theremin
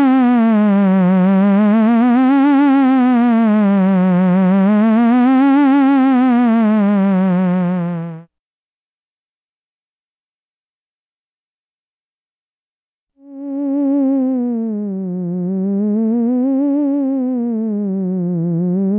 0.0s 8.3s, 13.2s 18.9s

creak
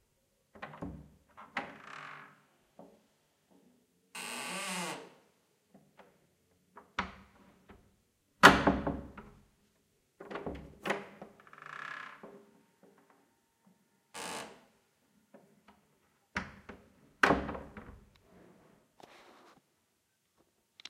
1.6s 2.4s, 4.2s 5.2s, 11.4s 13.2s, 14.1s 14.7s

